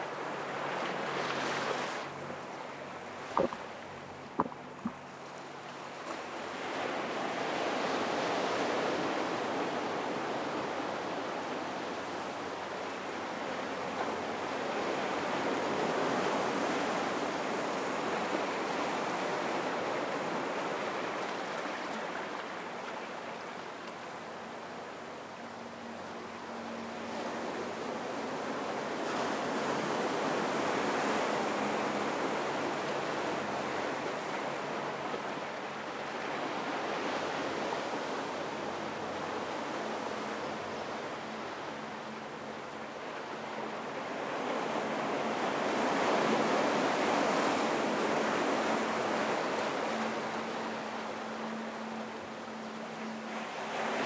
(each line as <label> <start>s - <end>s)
Ocean waves washing up 0.0s - 9.6s